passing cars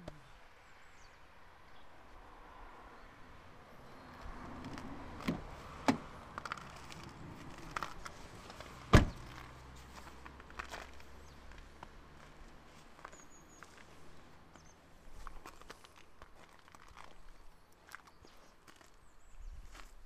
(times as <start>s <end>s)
0.1s 15.6s